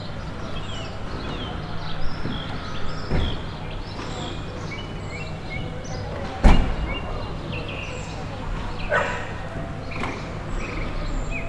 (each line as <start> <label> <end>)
8.9 barking dog 9.4